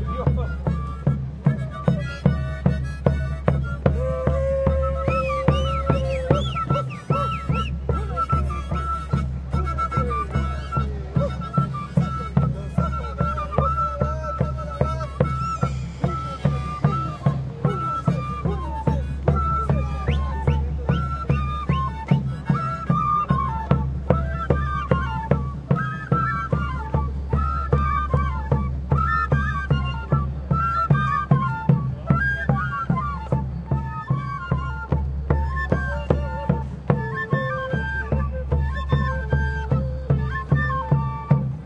percusion 0:00.0 - 0:41.5
people 0:00.0 - 0:41.6
Indian chants 0:12.5 - 0:20.9

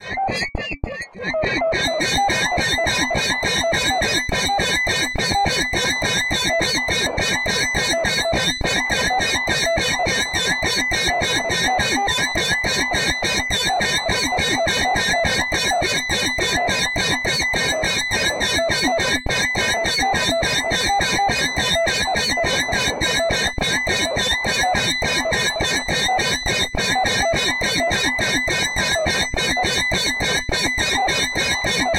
creature 0:00.0 - 0:02.8

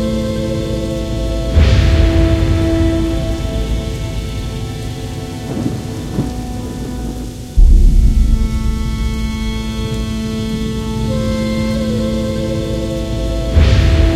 Rain 0:00.0 - 0:14.1
Thunder 0:01.6 - 0:11.3
Thunder 0:13.6 - 0:14.1

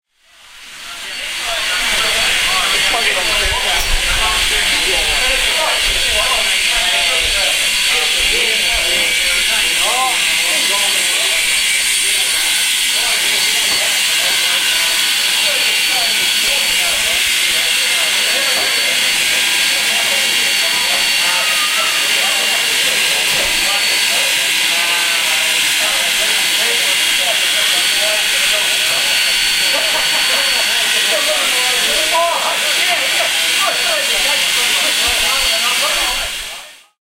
steam train 0:00.2 - 0:36.8

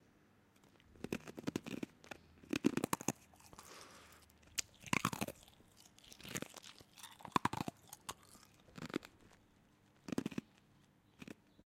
Ice Chewing 0:00.6 - 0:11.5
Swallowing 0:00.7 - 0:11.6
Spit 0:00.9 - 0:09.4

